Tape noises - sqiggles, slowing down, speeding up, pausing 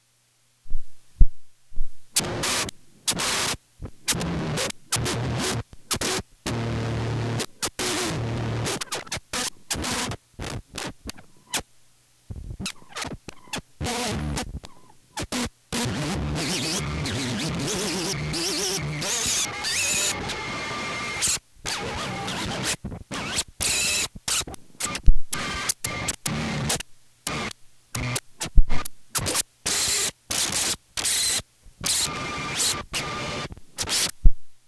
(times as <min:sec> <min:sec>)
0:12.6 0:20.5